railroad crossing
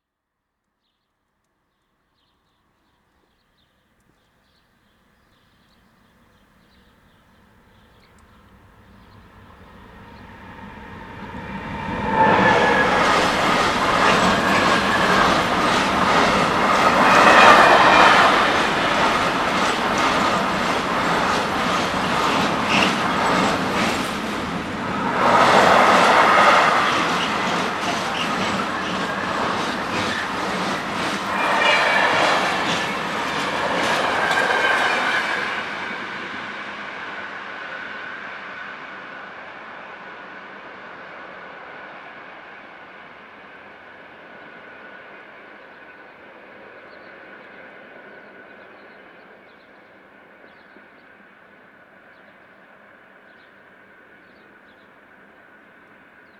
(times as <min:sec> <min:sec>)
0:06.0 0:40.6